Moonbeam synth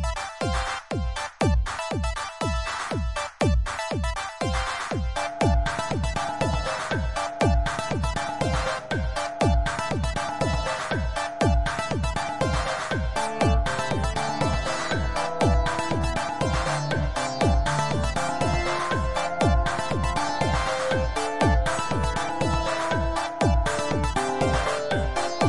5.2s 25.4s

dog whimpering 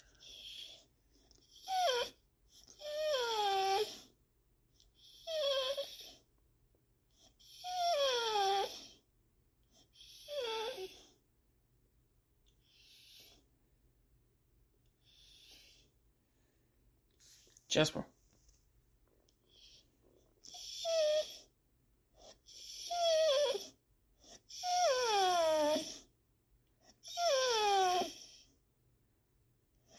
0.1s 0.8s, 1.5s 4.1s, 5.0s 6.2s, 7.2s 9.0s, 9.7s 11.2s, 12.6s 13.4s, 20.4s 21.5s, 22.2s 26.1s, 26.8s 28.5s

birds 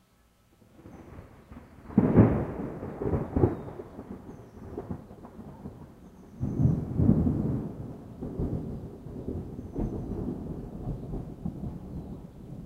3.1s 5.4s, 6.0s 6.9s

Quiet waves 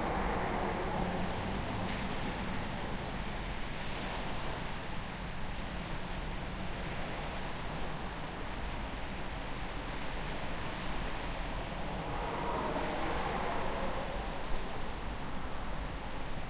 7.4s 16.4s

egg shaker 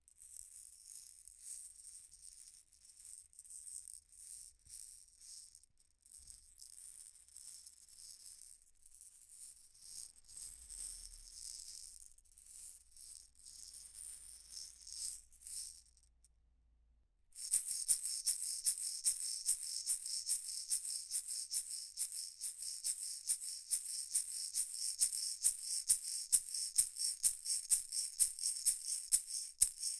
17.4s 29.9s

